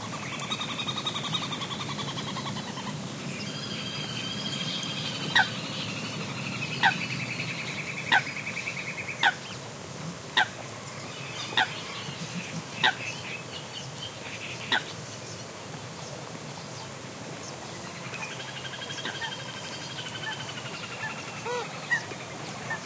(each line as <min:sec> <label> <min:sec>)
0:21.0 callings from Common Coot 0:22.8